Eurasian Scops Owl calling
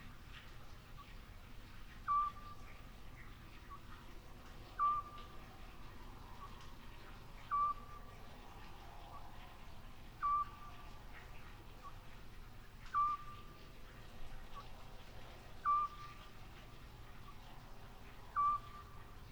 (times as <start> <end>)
2.0 2.6, 4.8 5.2, 7.4 8.0, 10.2 10.8, 12.9 13.5, 15.6 16.2, 18.3 19.0